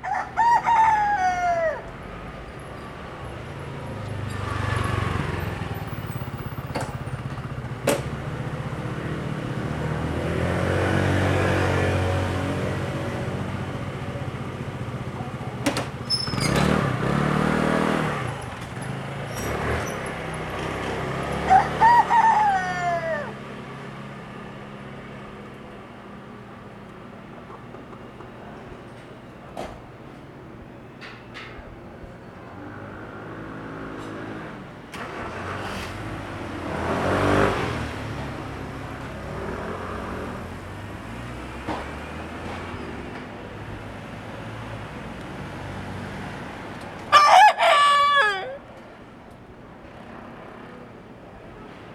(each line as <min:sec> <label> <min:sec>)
0:00.0 Chicken sounds 0:02.0
0:21.5 Chicken sounds 0:23.4
0:47.1 Chicken sounds 0:48.7